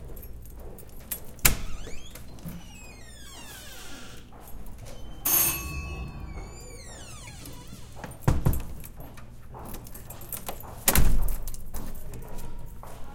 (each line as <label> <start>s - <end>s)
doorbell 5.2s - 7.7s